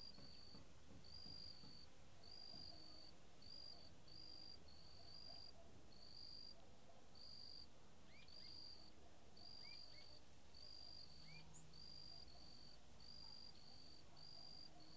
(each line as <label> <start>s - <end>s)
Crickets on marsh 0.0s - 6.6s
birds 0.0s - 14.9s
Crickets on marsh 7.2s - 14.9s